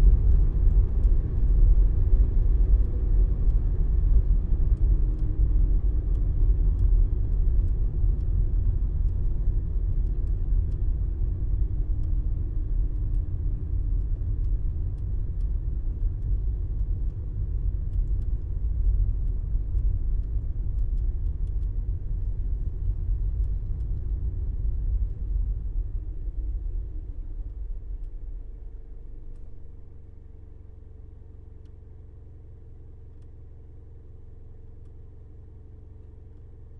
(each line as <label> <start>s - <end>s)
Slow moving car 0.0s - 36.7s